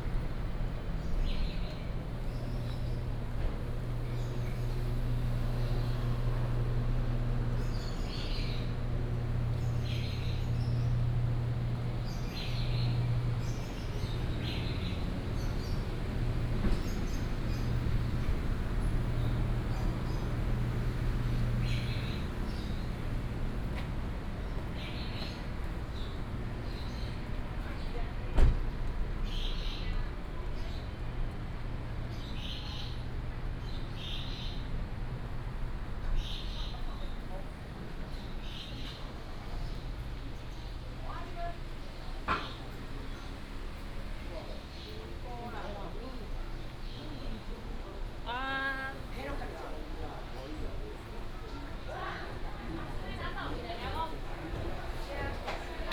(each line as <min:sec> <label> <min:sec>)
0:00.0 Walking in a small alley 0:55.9
0:00.0 traffic sound 0:55.9
0:00.5 birds 0:28.4
0:29.2 birds 0:31.1
0:31.9 birds 0:34.8
0:35.8 birds 0:55.9